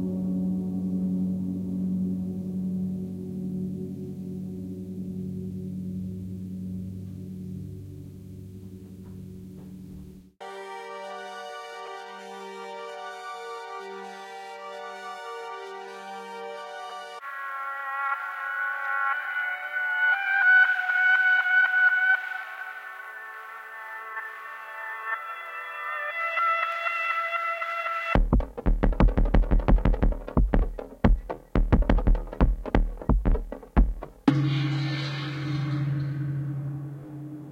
piano 0:00.0 - 0:27.6
percussion 0:28.2 - 0:37.5

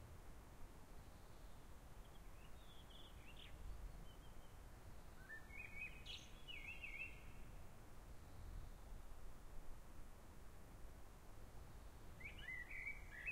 Wind 0:00.0 - 0:13.3
forest birds 0:00.9 - 0:09.0
forest birds 0:11.6 - 0:13.3

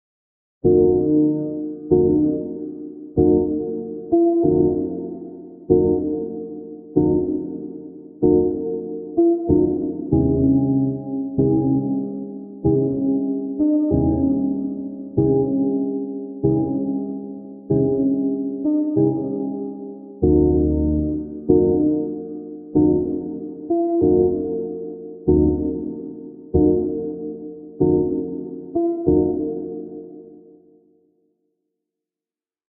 piano part 0:00.6 - 0:30.6

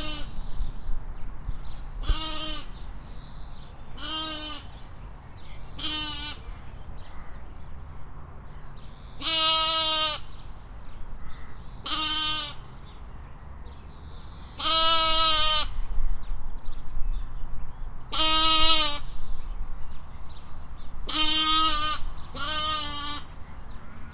Lamb outside fence in distress, calling 0:00.0 - 0:00.4
Lamb outside fence in distress, calling 0:02.0 - 0:02.8
Lamb outside fence in distress, calling 0:04.0 - 0:04.7
Lamb outside fence in distress, calling 0:05.8 - 0:06.4
Lamb outside fence in distress, calling 0:09.2 - 0:10.3
Lamb outside fence in distress, calling 0:11.8 - 0:12.6
Lamb outside fence in distress, calling 0:14.6 - 0:15.7
Lamb outside fence in distress, calling 0:18.1 - 0:19.0
Lamb outside fence in distress, calling 0:21.1 - 0:23.3

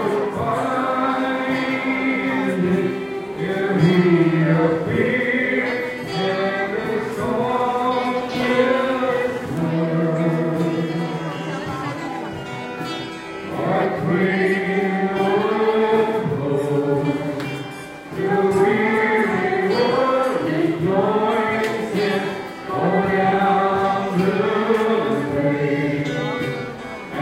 singing 0:00.0 - 0:12.2
people talking around me 0:00.0 - 0:27.2
singing 0:13.2 - 0:27.2

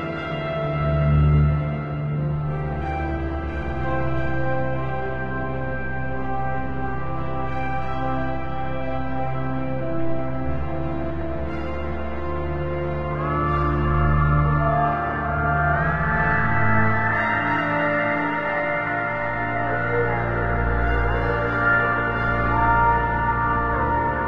bowed double bass 0:00.0 - 0:24.2
violin 0:00.0 - 0:24.2

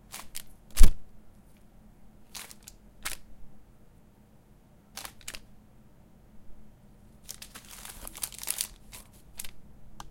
Paper Movement and Crumble 0:02.3 - 0:03.2
Paper Movement and Crumble 0:05.0 - 0:05.4
Paper Movement and Crumble 0:07.2 - 0:09.6

